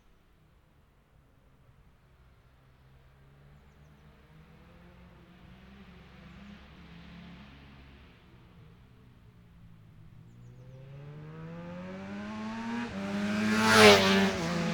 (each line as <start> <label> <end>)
3.6 motorcycle road racing 14.7